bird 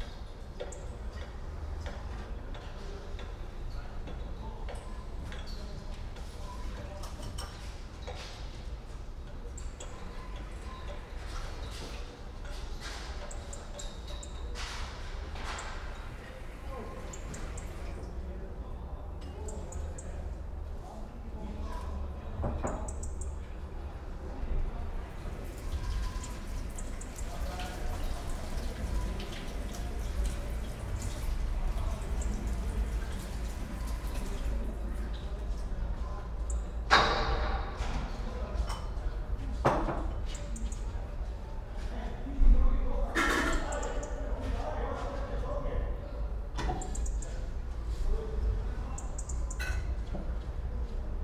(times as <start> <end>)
16.8 17.9